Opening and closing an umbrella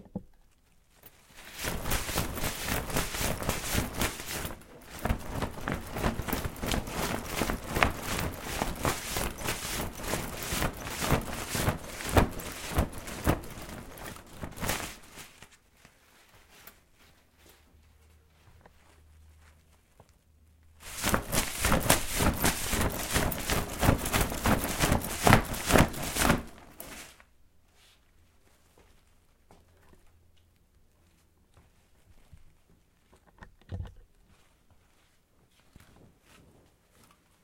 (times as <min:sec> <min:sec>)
0:01.1 0:15.6, 0:20.8 0:27.2